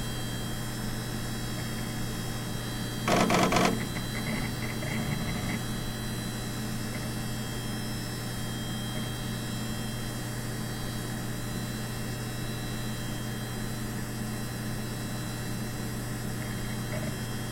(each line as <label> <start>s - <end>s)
fan 0.0s - 17.5s
hard drive noises 1.3s - 10.0s
diskette drive 1.4s - 10.0s
hard drive noises 15.8s - 17.5s
diskette drive 15.9s - 17.5s